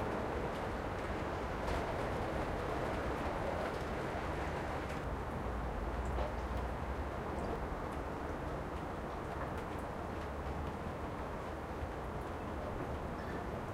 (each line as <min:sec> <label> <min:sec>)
0:00.0 heavy rain 0:13.7
0:00.0 wind 0:13.7